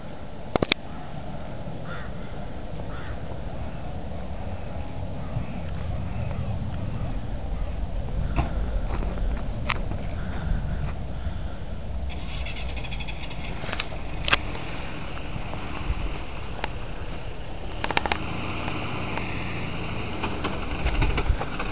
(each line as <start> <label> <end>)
0.0 wind 21.7
10.0 breath 11.8